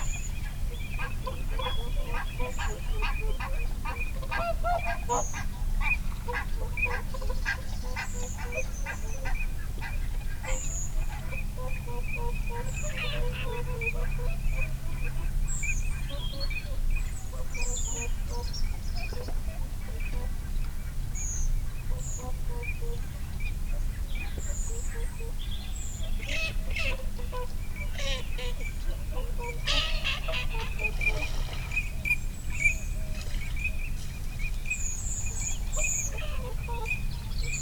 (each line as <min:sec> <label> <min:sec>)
0:00.0 background noise 0:37.6
0:26.0 barnacle geese 0:34.1
0:26.0 moorhen 0:37.6
0:26.2 pink-footed geese 0:34.1
0:26.3 mute swan 0:33.5